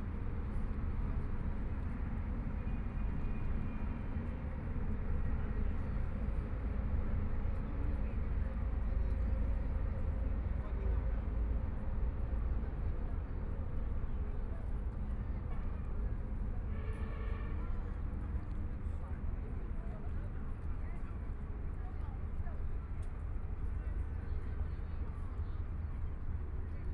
0.0s Many tourists 26.9s

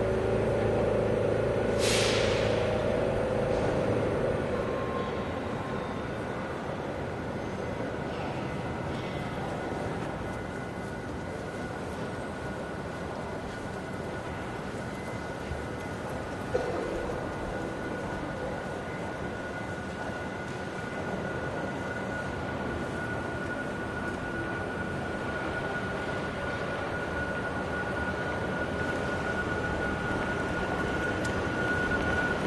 0.0s switching to diesel on the way out 4.8s
0.0s Commuters transferring on and off and between busses 32.4s
0.0s Elevator (with bell) 32.4s

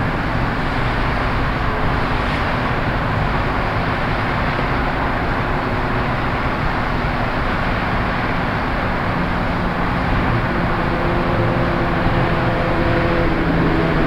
0.0s Road traffic 14.0s

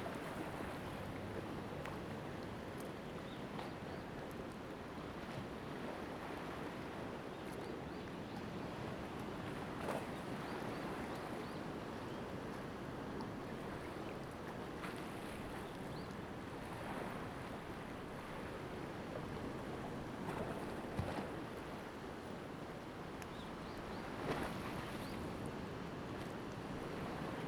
0.0s Waves 27.4s

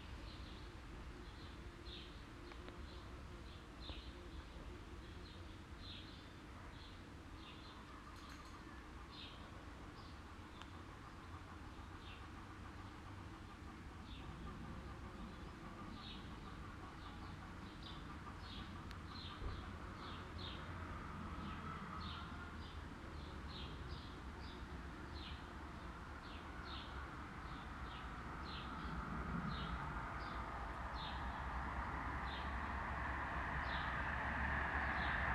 0.0s birds 35.3s
0.0s mild windy 35.3s
8.6s passing by traffic 35.3s

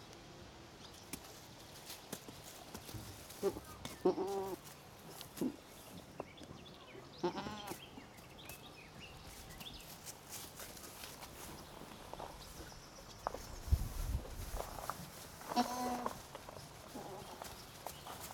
1.2s goats 6.2s
14.3s goats 18.3s

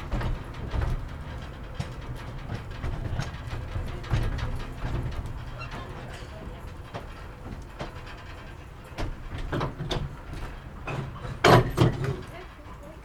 0.0s Train ride 13.0s

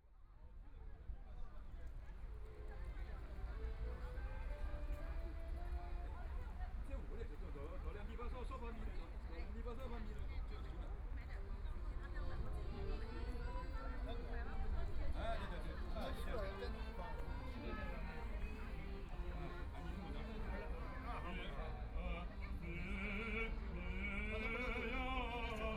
21.9s elderly people are practicing singing chorus 25.7s

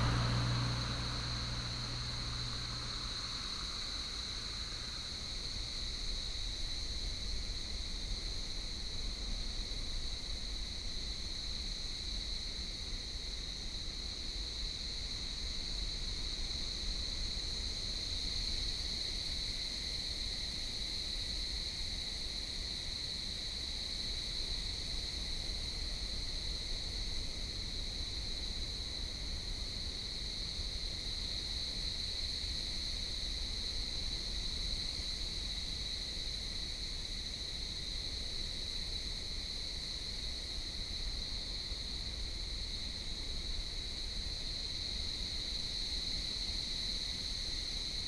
0.0s traffic sound 5.2s
0.0s cicadas 16.8s
18.2s cicadas 48.0s

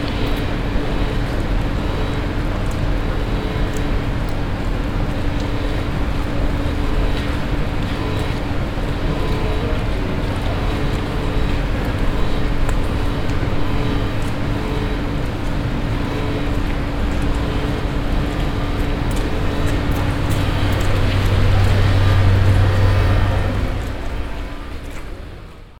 0.0s walk to the exit door 25.6s

